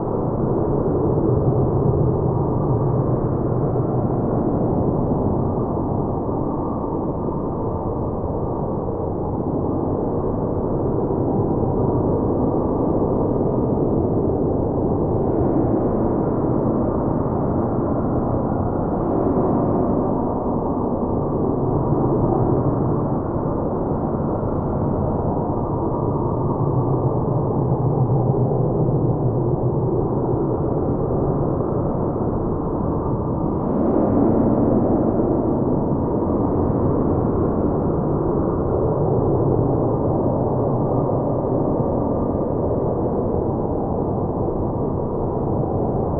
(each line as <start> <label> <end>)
0.0 wind 46.1